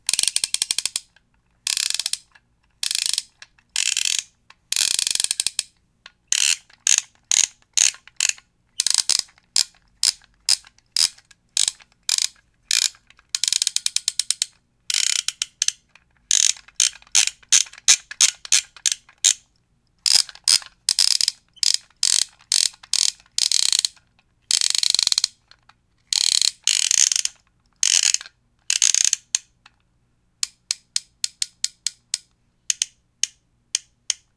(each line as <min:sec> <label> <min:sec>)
0:00.1 squeaking of the plastic as the knob turns 0:05.6
0:00.1 Clicking Dial on Toy 0:05.7
0:06.3 squeaking of the plastic as the knob turns 0:19.4
0:20.0 squeaking of the plastic as the knob turns 0:29.3